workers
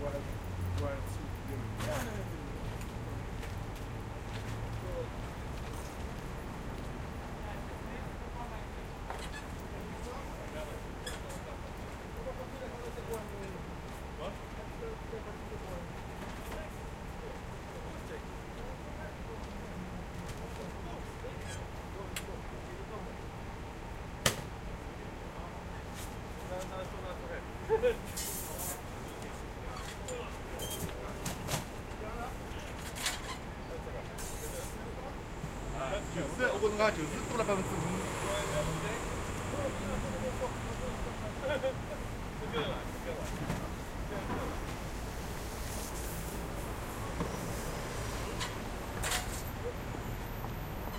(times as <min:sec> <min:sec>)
0:25.4 0:50.9